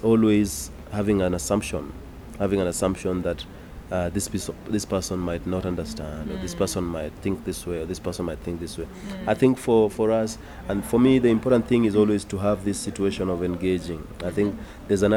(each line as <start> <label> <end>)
0.0 afternoon traffic on the dusty road 15.1
0.0 conversation around freedom, art and public space 15.1